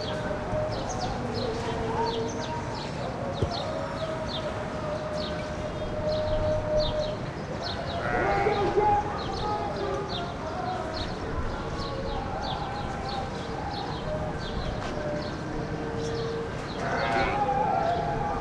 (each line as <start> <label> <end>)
0.0 distant mosque call to prayer 18.4
0.0 traffic 18.4
16.8 sheep on roof 18.2